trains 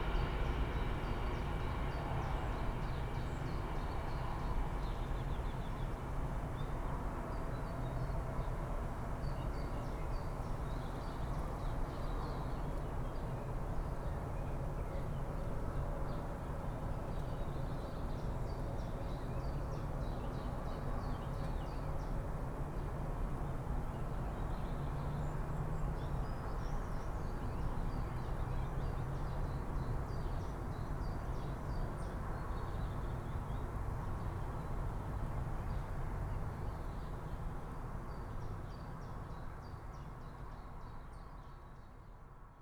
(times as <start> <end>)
0.0 5.5